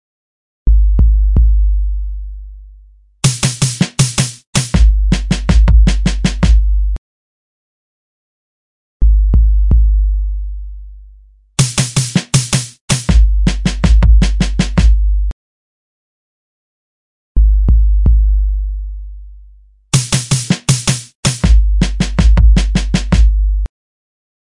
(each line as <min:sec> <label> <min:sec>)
0:00.7 808 kick 0:01.7
0:00.7 Military Bass 0:02.6
0:03.2 808 kick 0:06.8
0:04.8 Military Bass 0:07.0
0:09.0 808 kick 0:10.0
0:09.0 Military Bass 0:10.9
0:11.6 808 kick 0:15.3
0:13.1 Military Bass 0:15.3
0:17.4 808 kick 0:18.4
0:17.4 Military Bass 0:19.1
0:20.0 808 kick 0:23.7
0:21.4 Military Bass 0:23.7